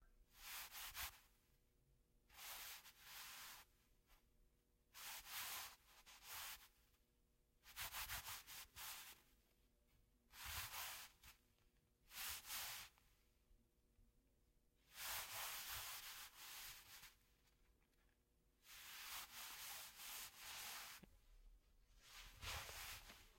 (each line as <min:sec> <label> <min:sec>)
0:10.3 Cloth Rustle 0:13.0
0:14.9 Cloth Rustle 0:23.3